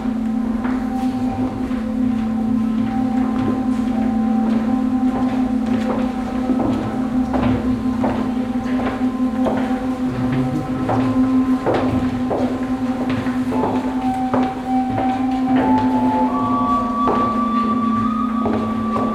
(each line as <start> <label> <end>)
0.0 steps of visitors 19.1